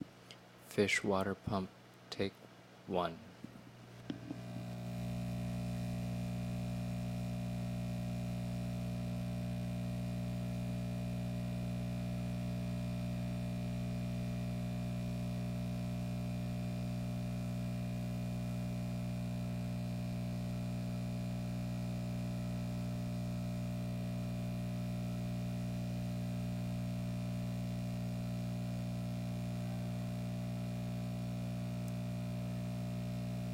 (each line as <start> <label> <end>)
4.0 aqarium water pump with buzz 33.5